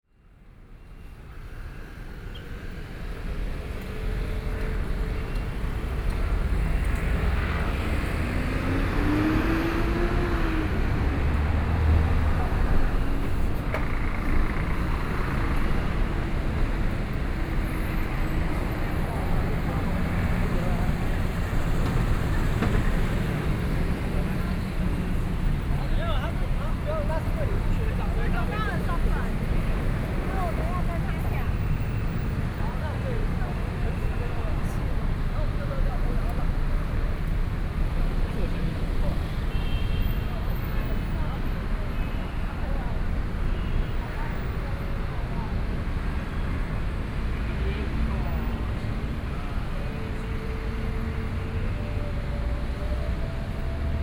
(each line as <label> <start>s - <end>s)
walking in the Street 0.2s - 54.0s
crowd 3.2s - 51.4s